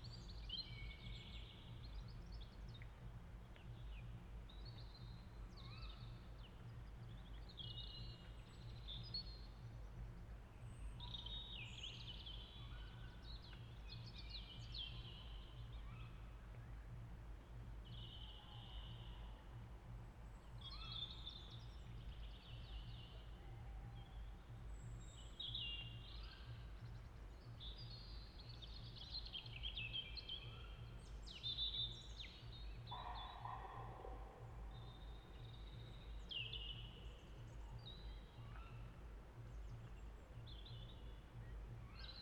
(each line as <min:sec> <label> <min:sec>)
0:20.4 Blackbirds 0:42.2
0:31.6 Robins 0:42.2
0:31.6 Pheasants 0:40.4
0:32.5 Greater Spotted Woodpecker 0:40.8